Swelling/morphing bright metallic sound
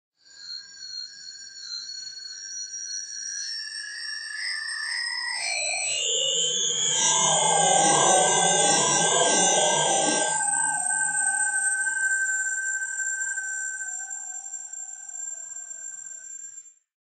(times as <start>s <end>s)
5.6s 16.2s